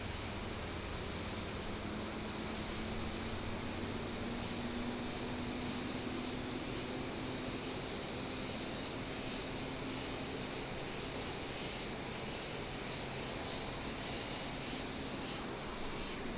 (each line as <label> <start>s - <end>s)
Cicadas 0.0s - 16.3s
Insects 0.0s - 16.3s